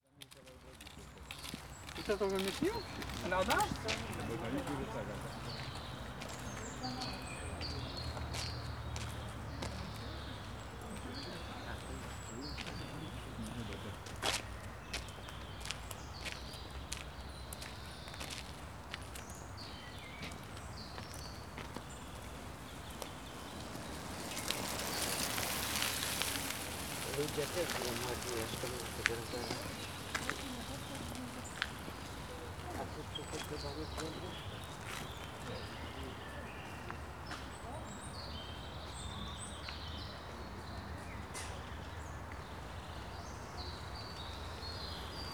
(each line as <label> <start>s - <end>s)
strollers walking here and there on a gravel path 0.0s - 45.3s
bird activity 0.1s - 45.3s
bikes passing by 0.6s - 45.3s